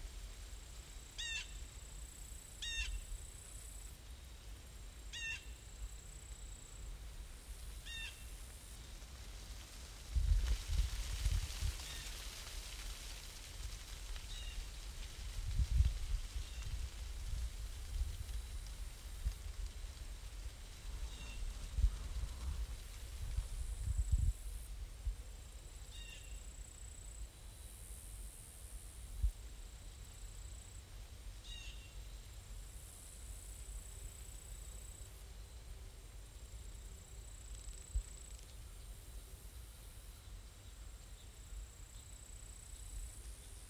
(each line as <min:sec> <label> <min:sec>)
0:00.0 leaves 0:43.6
0:01.2 lonely call of a Blue Jay 0:01.6
0:02.6 lonely call of a Blue Jay 0:03.1
0:05.1 lonely call of a Blue Jay 0:05.6
0:07.8 lonely call of a Blue Jay 0:08.2
0:25.9 lonely call of a Blue Jay 0:26.4
0:31.4 lonely call of a Blue Jay 0:31.9